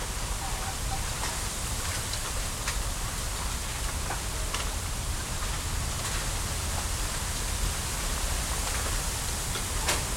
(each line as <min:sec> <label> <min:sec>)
0:00.0 Wind passing through a small bamboo grove 0:10.1
0:00.0 aircraft 0:10.1